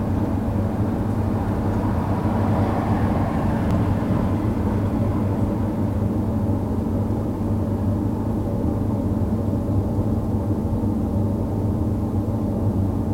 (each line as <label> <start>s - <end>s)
car 0.0s - 7.1s
air-conditioning 0.0s - 13.1s